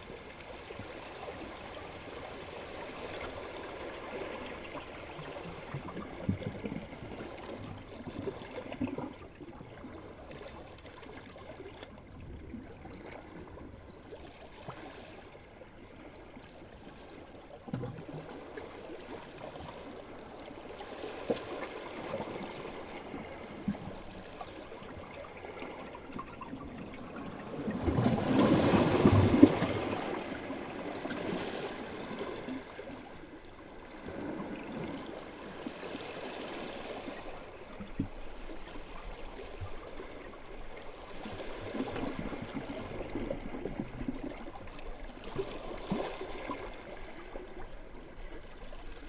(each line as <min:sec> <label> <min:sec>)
0:00.0 Ocean waves going through rocks 0:49.0
0:00.0 cicadas 0:49.0